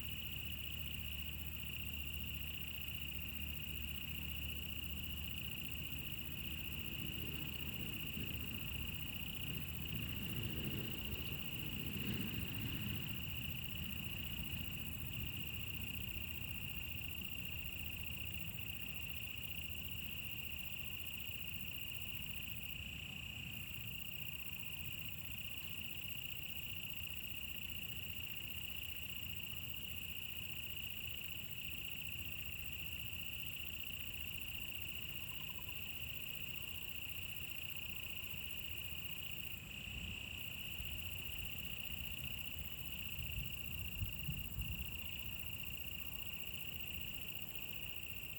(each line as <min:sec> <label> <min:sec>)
0:00.0 insects 0:48.3